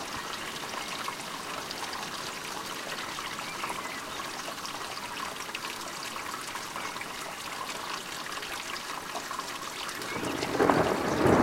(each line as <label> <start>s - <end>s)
flowing water 0.0s - 11.4s
thunder 10.2s - 11.4s